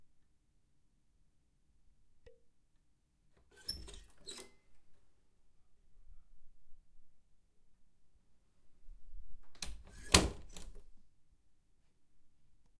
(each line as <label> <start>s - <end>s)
bedroom door opening and closing 9.5s - 10.8s